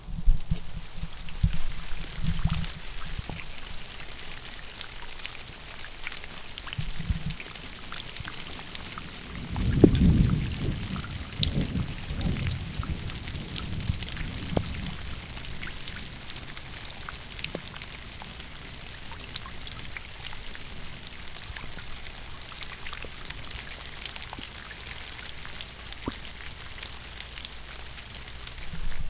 0.0s downspout from the roof 29.0s
9.2s thunder 15.9s

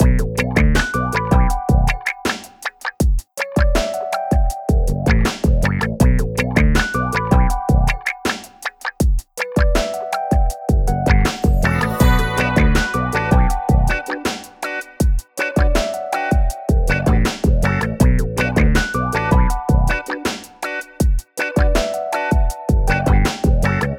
0.0s sexy bass 2.0s
0.0s sexy guitar 4.0s
4.8s sexy bass 8.0s
4.8s sexy guitar 10.0s
10.8s sexy bass 14.0s
10.8s sexy guitar 23.9s
16.8s sexy bass 20.0s
22.8s sexy bass 23.9s

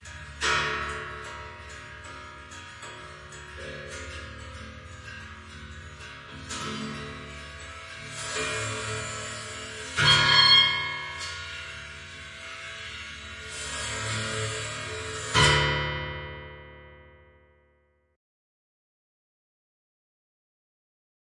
0.0s abstract metal hits 17.3s

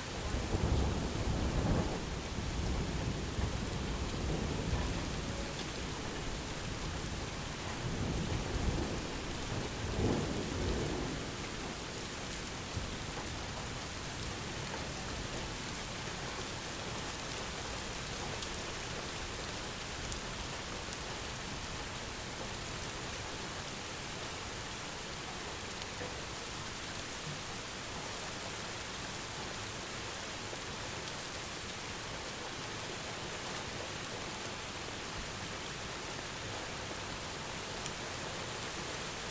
0.0s Rain 39.3s
7.7s Thunder 13.2s

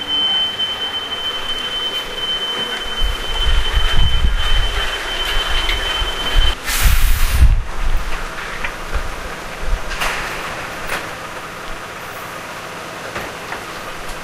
0.0s dustmans collecting the garbage 14.2s

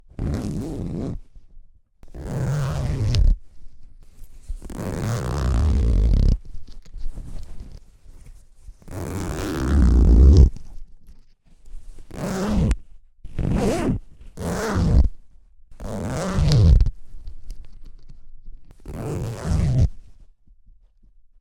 0.1s zipper 1.3s
2.0s zipper 3.4s
4.2s zipper 6.5s
8.8s zipper 10.7s
12.0s zipper 15.2s
15.8s zipper 17.0s
18.7s zipper 20.1s

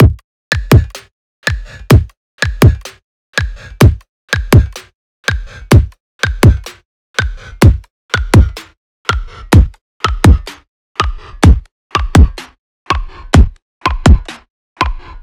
0.0s simple beat 8.7s
9.5s simple beat 10.6s

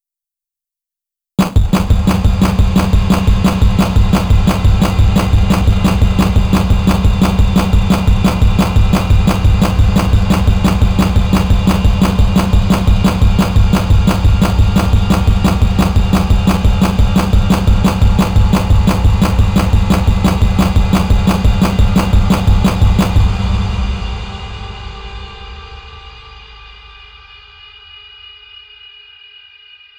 1.4s Snare Drum 23.4s
1.4s Bass Drum 23.9s

